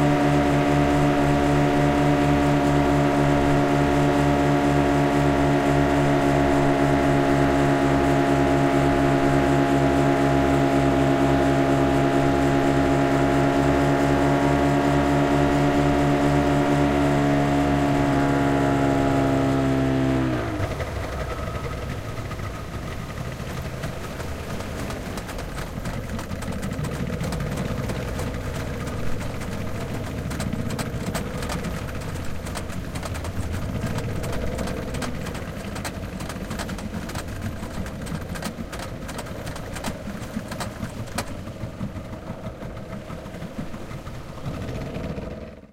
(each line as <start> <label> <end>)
0.0 Speedboat Outboard Motors 45.7